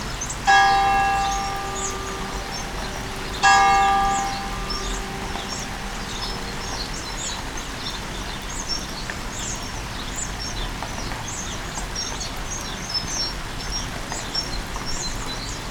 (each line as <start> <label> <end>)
0.0 bird's singing 10.6
0.0 Rainy day 15.7
0.4 church bell strikes twice 8.2